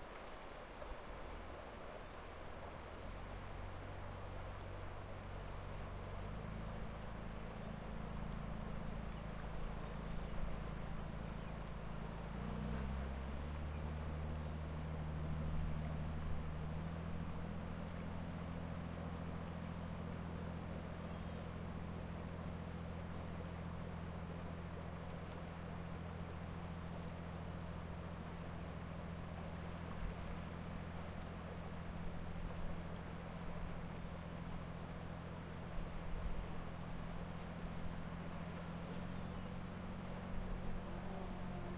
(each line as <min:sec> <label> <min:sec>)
0:00.0 Sea noise 0:41.7